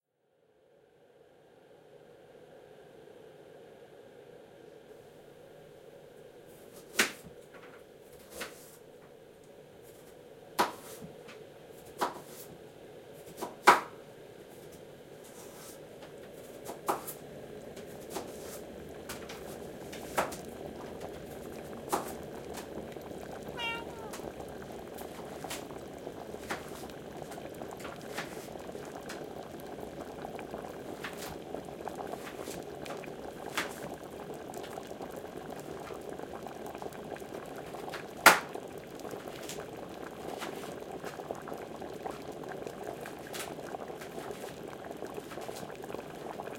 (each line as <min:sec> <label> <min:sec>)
0:01.0 boiling water 0:46.5
0:23.4 meows 0:24.4